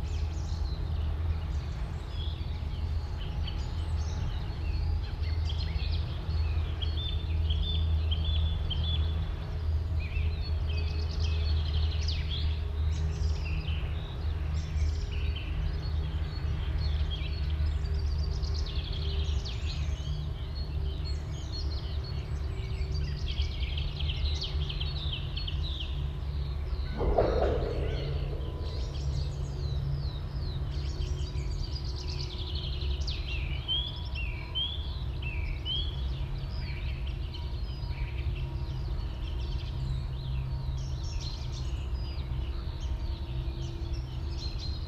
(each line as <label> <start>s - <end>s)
Very distant cranes 0.0s - 44.8s
song thrush 0.0s - 44.8s
skylark 10.0s - 39.7s
ravens 26.8s - 30.4s
crows 26.9s - 29.4s